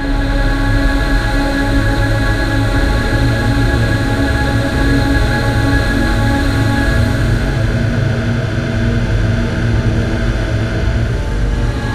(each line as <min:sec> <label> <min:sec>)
0:00.0 Drone 0:11.9